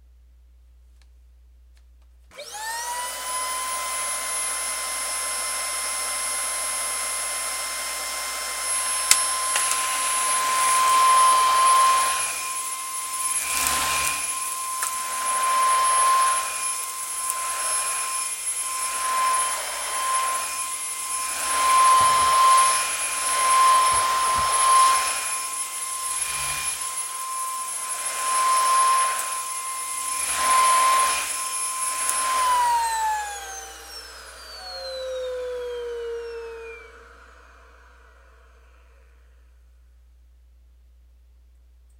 vacuum starting vacuuming and stopping 2.3 - 39.7

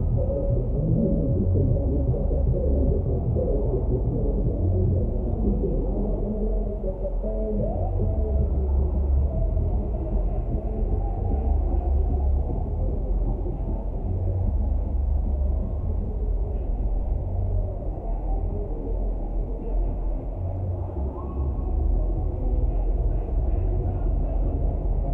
distant music festival 0.0 - 25.1

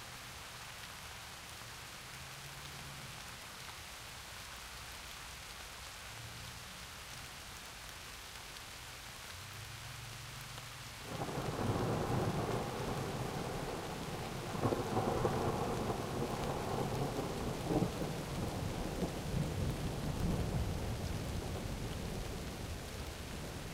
rain 0.0 - 23.7
thunder 11.1 - 22.6

